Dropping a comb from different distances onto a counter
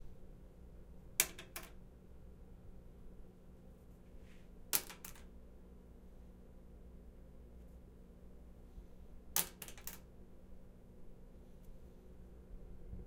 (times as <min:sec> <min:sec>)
0:01.2 0:01.8, 0:04.7 0:05.3, 0:09.4 0:10.1